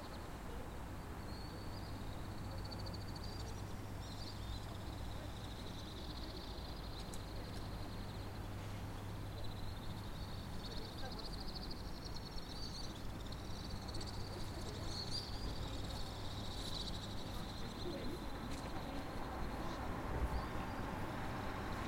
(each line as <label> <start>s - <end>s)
birds 0.0s - 21.8s
insects 0.0s - 21.8s
citizents adult and kids passing (talking in french) 8.8s - 21.8s
passing vehicules 13.1s - 21.8s